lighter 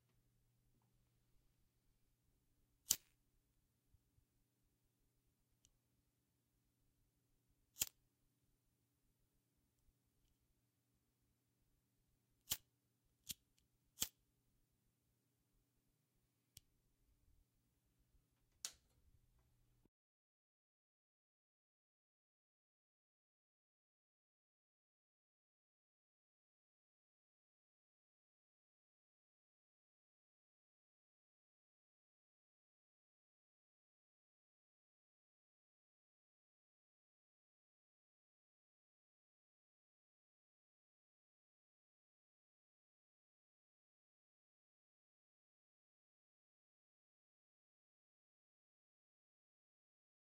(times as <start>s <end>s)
2.9s 3.2s, 7.7s 8.0s, 12.4s 14.2s